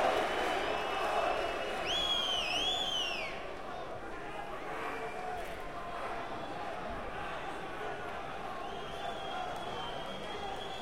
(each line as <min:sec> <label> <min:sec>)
0:00.0 Noise of the crowd 0:10.8